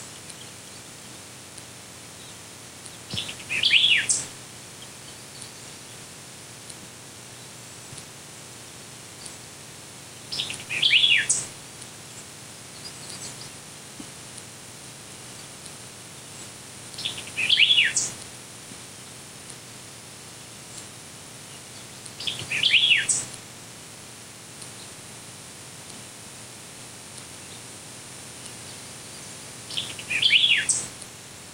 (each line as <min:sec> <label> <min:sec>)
0:00.0 birds 0:23.4
0:24.5 birds 0:31.5